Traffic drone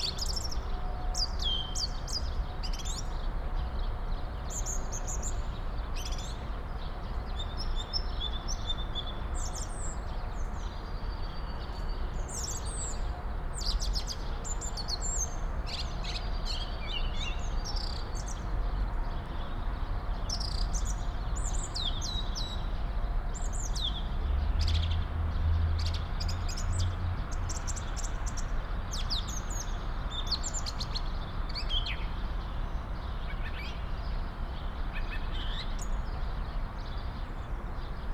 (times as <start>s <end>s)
22.8s 30.1s